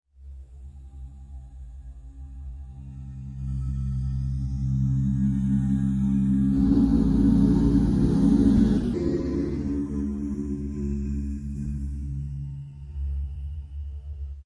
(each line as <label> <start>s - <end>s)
long processed vocal drone 2.1s - 13.9s